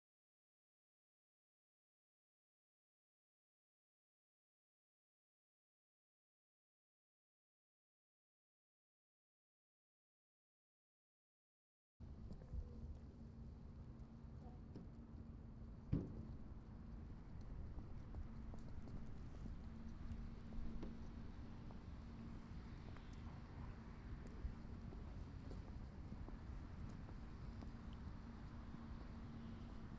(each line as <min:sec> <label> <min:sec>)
0:12.0 wind 0:29.9